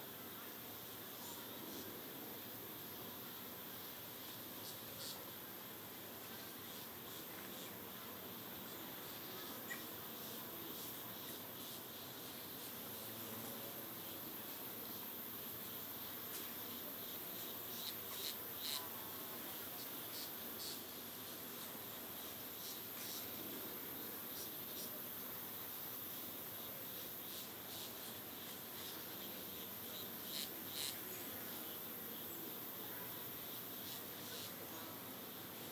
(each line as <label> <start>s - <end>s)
insects 0.0s - 35.7s